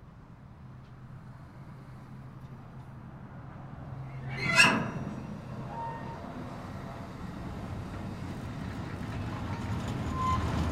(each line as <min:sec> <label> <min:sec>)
0:03.2 diesel train coming to a halt and departing again 0:10.7
0:04.1 squeak 0:06.3
0:10.1 squeak 0:10.5